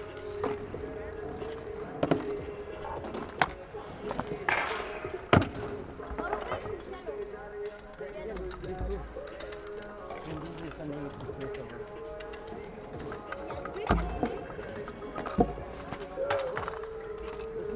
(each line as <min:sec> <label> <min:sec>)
0:00.0 kids and youngsters practising with scooters 0:17.7